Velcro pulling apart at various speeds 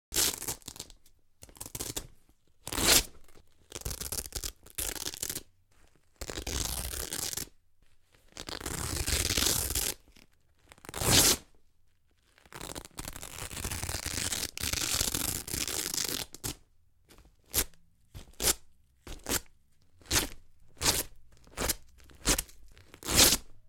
0.1 1.0, 2.7 5.5, 6.2 7.6, 8.3 10.0, 10.8 11.5, 12.3 16.6, 20.1 23.5

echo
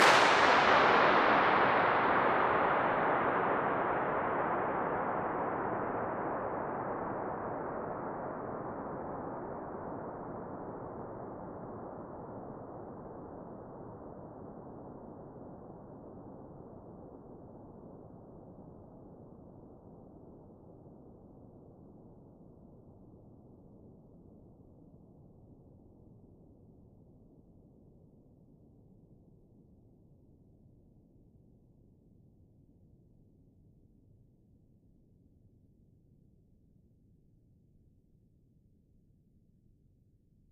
0.0 9.2

